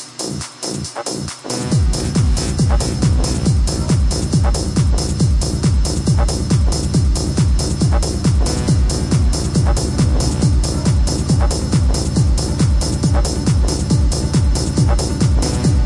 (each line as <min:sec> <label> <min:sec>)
0:00.0 club music 0:15.8